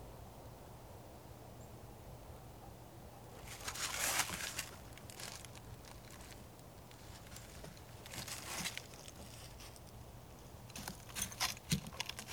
plane overhead 0.0 - 11.2

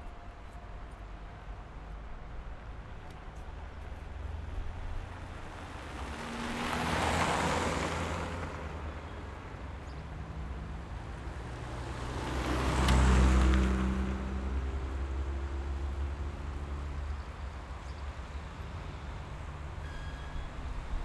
traffic 0.0 - 21.0
tram 17.2 - 21.0

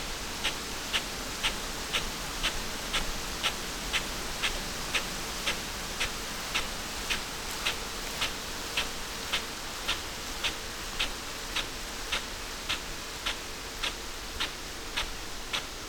irrigation sprinkler 0.0 - 15.8

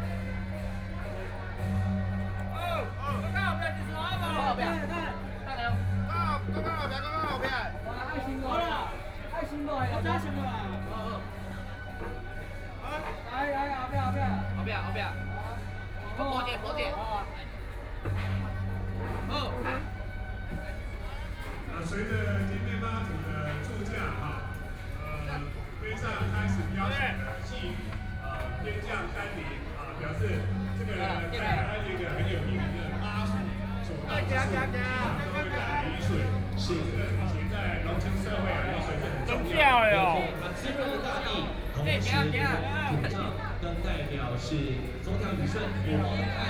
Traditional temple festivals 0.0 - 46.4

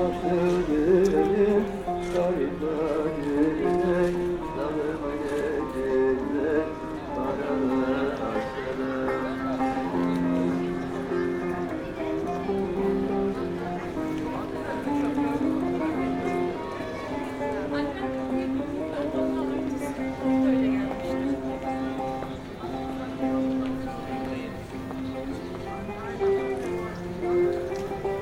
old blind musician sings 0.0 - 16.6

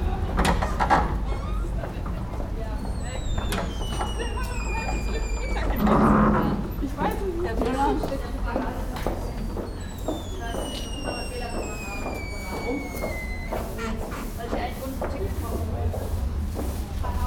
passengers and shoppers passing by 0.0 - 17.2
sounding entrance door of the old kaufhof building 0.0 - 17.2

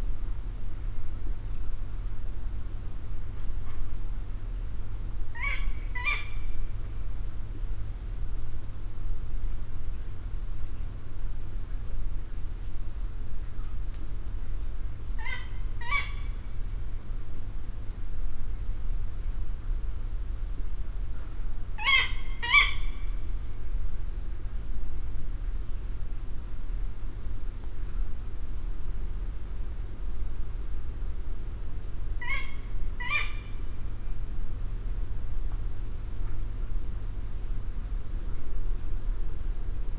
Female Tawny Owl 5.3 - 6.6
Female Tawny Owl 15.2 - 16.4
Female Tawny Owl 21.8 - 23.3
Female Tawny Owl 32.2 - 33.7

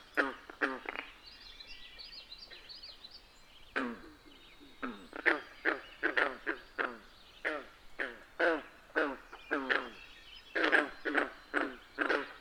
various bird species call and sing 0.0 - 12.4

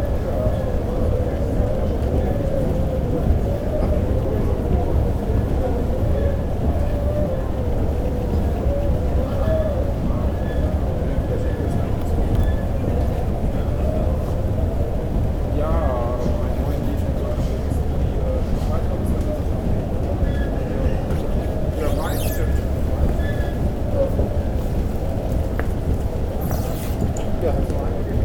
waiting and talking travellers 0.0 - 28.2

